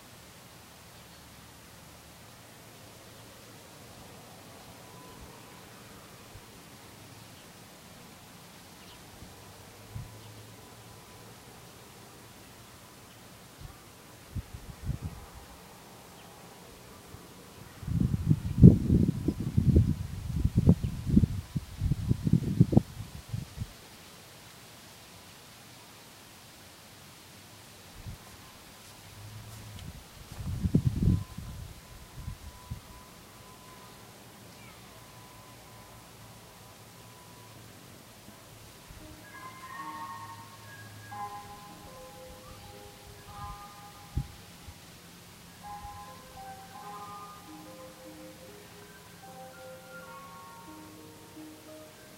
light wind 0.0 - 52.1

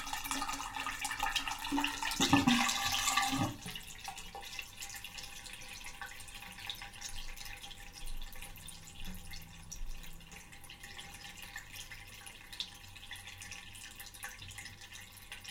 water gurgling in the bath overflow hole 0.0 - 15.5

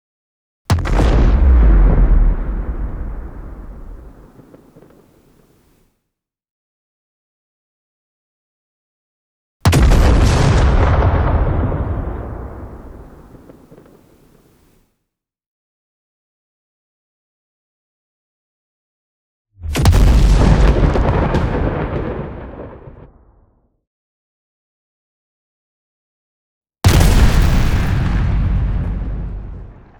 explosion 0.7 - 5.0
explosion 9.7 - 14.0
explosion 19.6 - 23.4
explosion 26.8 - 29.9

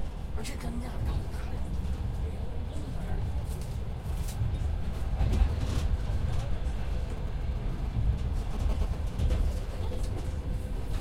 train 0.0 - 11.0
radio interference 8.5 - 9.2

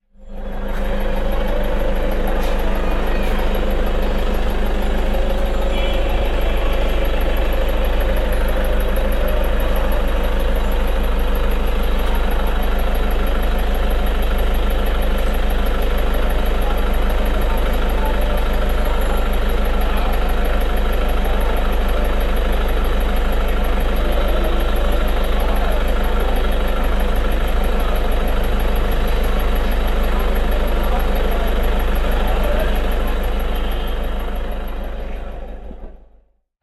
SUV engine 0.0 - 36.2

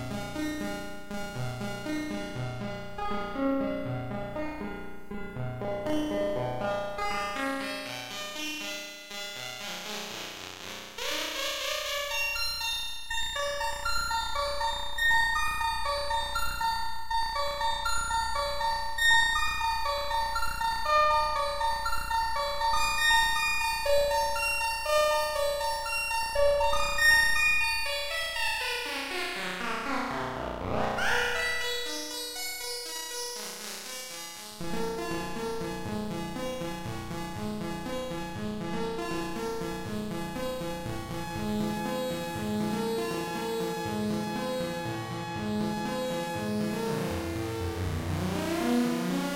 analog synthesizer 28.6 - 49.3

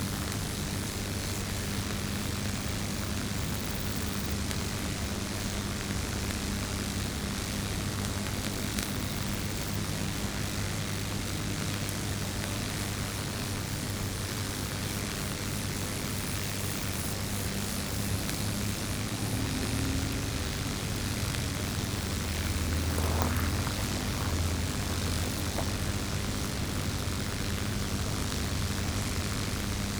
crickets 0.0 - 5.5
cicadas 0.0 - 5.5
crackling sound of electricity passing through the cables 0.0 - 29.9
cicadas 8.4 - 29.9
crickets 13.1 - 29.9
grasshoppers 14.8 - 29.9
cars in the distance 18.1 - 29.3

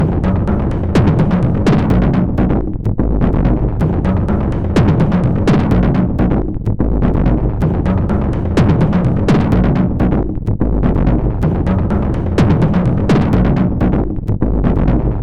Drum Loop 0.0 - 15.2

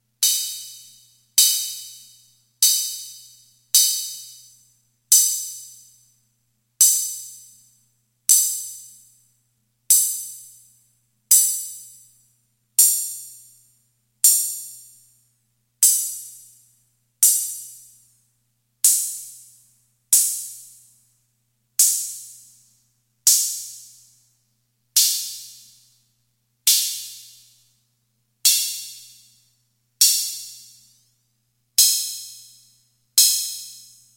open hi hat 0.2 - 5.8

